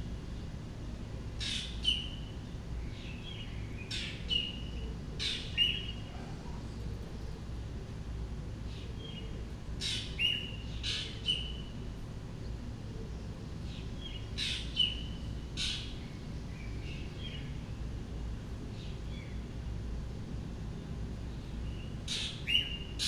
birds call from various distances away 0:00.0 - 0:23.0

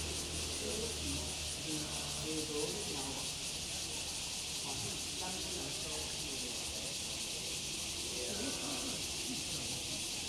Cicadas cry 0:00.0 - 0:10.2

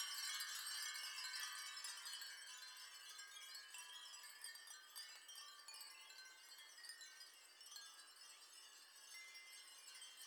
3000 Glass Wind Chimes 0:00.0 - 0:10.2

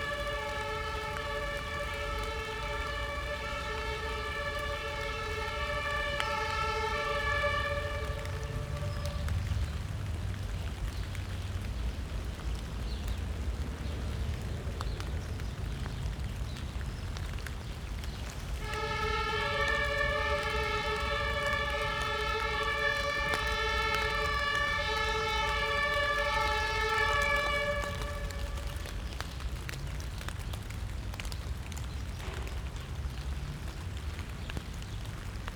ambulance or fire truck sounds its siren loudly 0:00.0 - 0:10.9
rain spatters on thick autumn leaves 0:00.0 - 0:35.5
traffic 0:00.0 - 0:35.5
ambulance or fire truck sounds its siren loudly 0:18.4 - 0:29.8

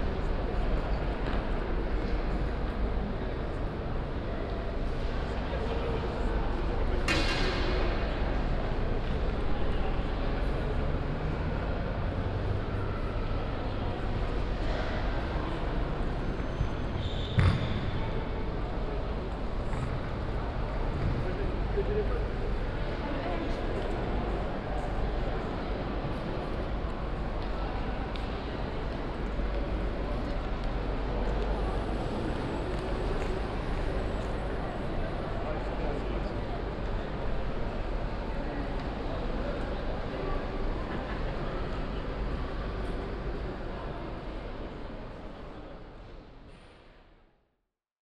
deep sound waves of trains arriving 0:17.9 - 0:47.0

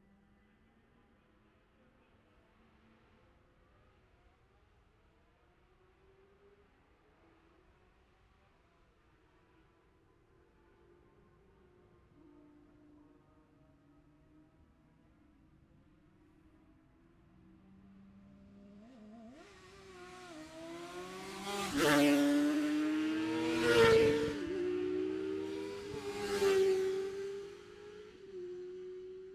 2 & 4 strokes qualifying 0:19.4 - 0:28.3

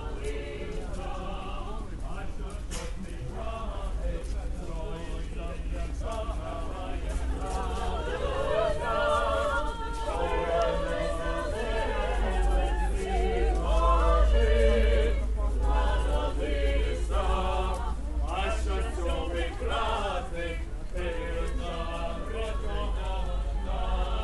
Traditionnal chants 0:00.0 - 0:24.2
police 0:00.0 - 0:24.2

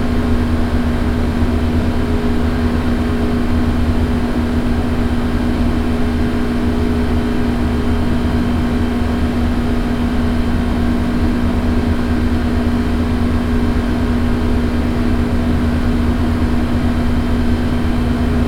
Building air-conditioner 0:00.0 - 0:18.4

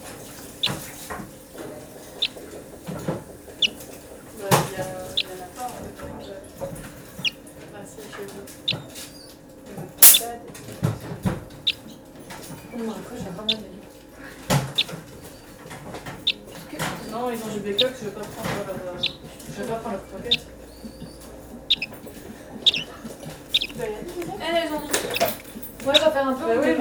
lonely greenfinch 0:00.0 - 0:05.8
common sounds of the daily life of the center 0:00.0 - 0:26.8
lonely greenfinch 0:10.0 - 0:10.3
lonely greenfinch 0:11.6 - 0:12.0
lonely greenfinch 0:13.4 - 0:13.7
lonely greenfinch 0:14.5 - 0:26.2

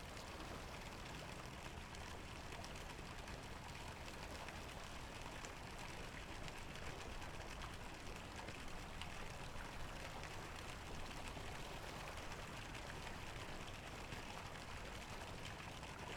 boat on the river 0:00.0 - 0:16.1
water 0:00.0 - 0:16.1

